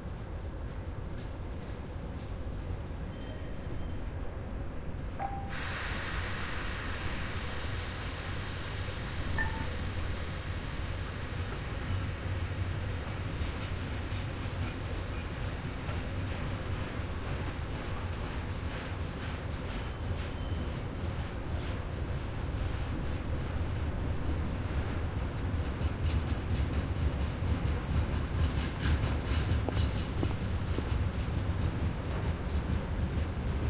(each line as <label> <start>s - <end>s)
passing train rattle 0.0s - 33.6s